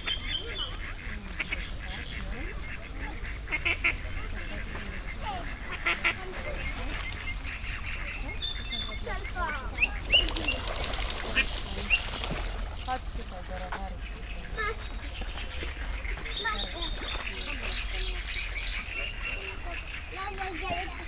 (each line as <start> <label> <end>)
0.0 many different birds 21.0
0.0 people resting 21.0
0.0 young ducks running right by my feet 21.0